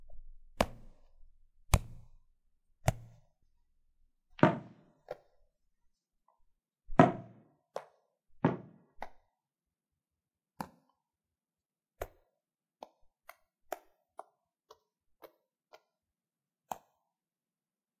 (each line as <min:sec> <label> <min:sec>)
0:01.7 stress ball contacting with hands 0:02.2